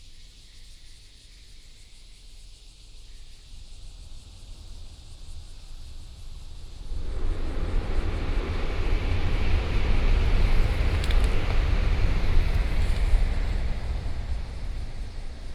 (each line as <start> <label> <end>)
6.9 traffic sound 15.5